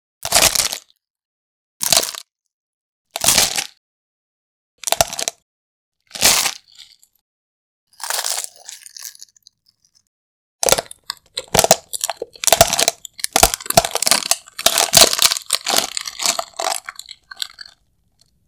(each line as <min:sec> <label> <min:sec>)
0:01.8 eggshell bone breaking and cracking 0:02.2
0:08.0 eggshell bone breaking and cracking 0:10.1